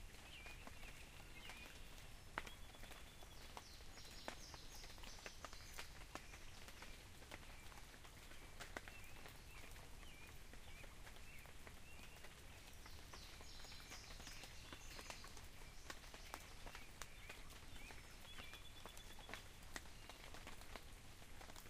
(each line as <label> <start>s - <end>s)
Rain falling 0.0s - 21.6s
quiet sound of the creek 0.0s - 21.6s
birds singing 0.1s - 7.9s
birds singing 8.8s - 20.7s